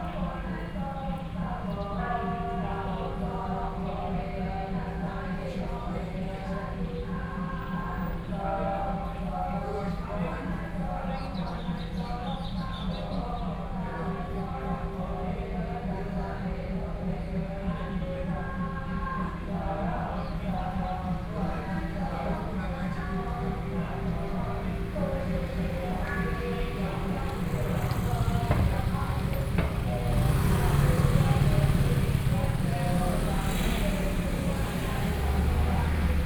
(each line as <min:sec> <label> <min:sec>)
0:19.8 Temple chanting voices 0:36.2
0:21.1 Traffic Sound 0:36.2